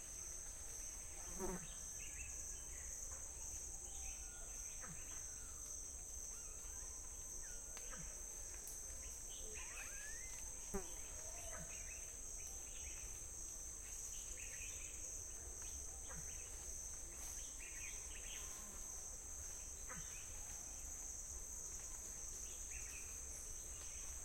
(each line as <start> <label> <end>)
0.0 bugs 24.2